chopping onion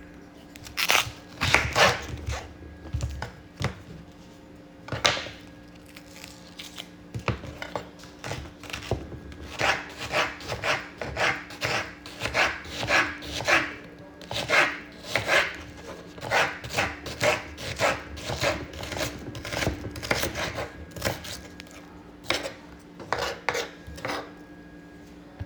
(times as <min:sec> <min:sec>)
0:00.7 0:02.4, 0:07.2 0:24.3